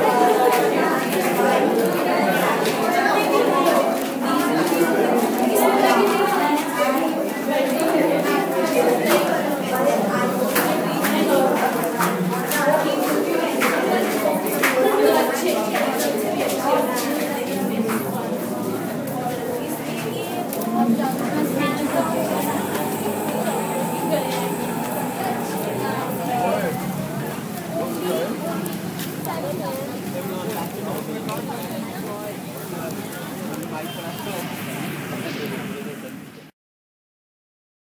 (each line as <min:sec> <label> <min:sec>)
0:00.0 People Exiting and Dispersing from Movie Theatre 0:36.4